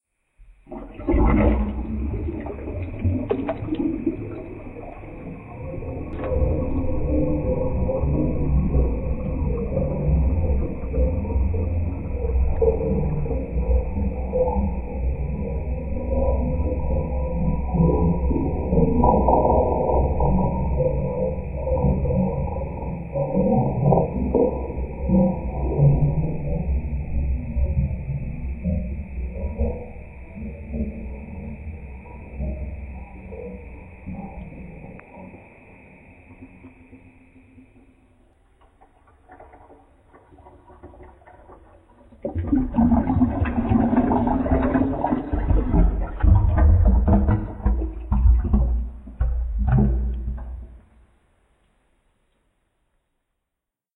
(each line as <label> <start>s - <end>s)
Water 0.0s - 52.4s